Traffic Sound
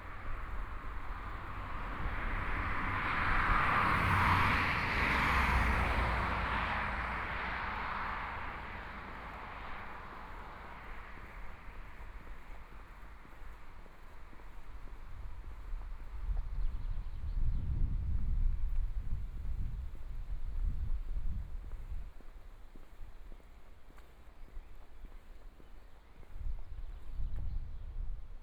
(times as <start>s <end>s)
0.0s 17.0s